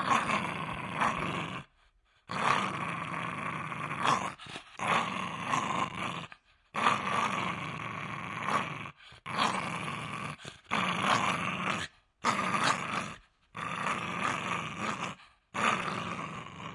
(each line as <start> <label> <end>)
0.0 Dog Growl 16.7